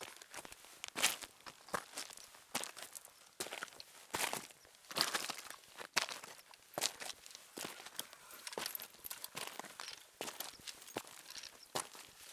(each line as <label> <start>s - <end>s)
Walking up 6.0s - 12.2s